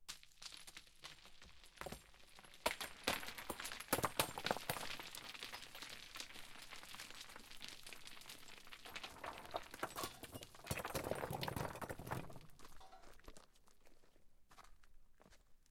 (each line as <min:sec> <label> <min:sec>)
0:00.0 small and large stones falling down a hill 0:14.1